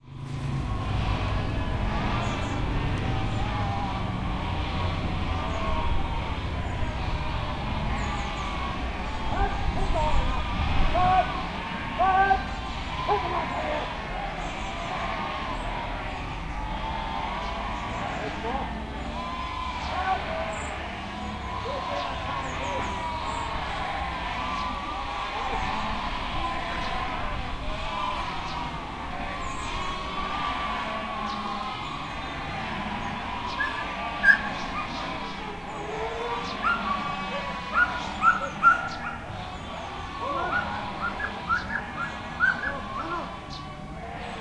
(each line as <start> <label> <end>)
0.0 birds 44.4